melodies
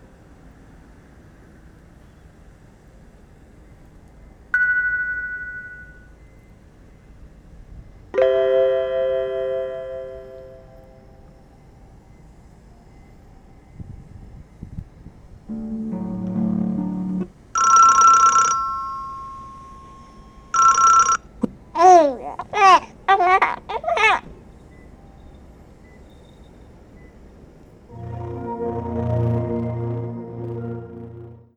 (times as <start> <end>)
15.5 17.4, 27.9 31.5